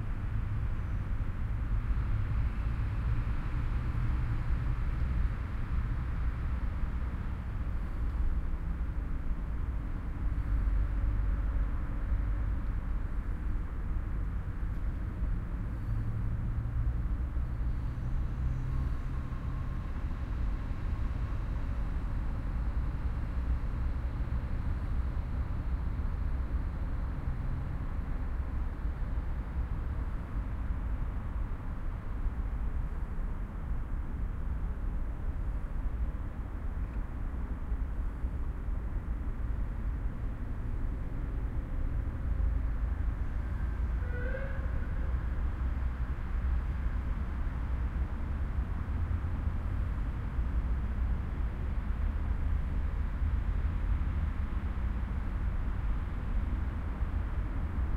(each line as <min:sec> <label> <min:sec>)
0:00.0 cars 0:57.9
0:00.0 trucks 0:57.9
0:44.0 sirens 0:45.1